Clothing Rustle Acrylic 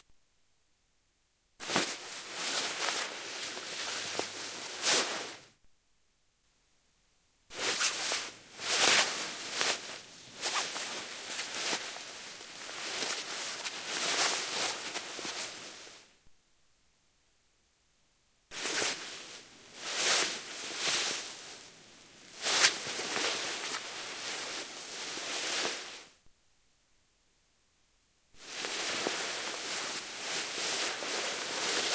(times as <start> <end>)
1.6 5.6, 7.5 16.1, 18.5 26.2, 28.4 31.9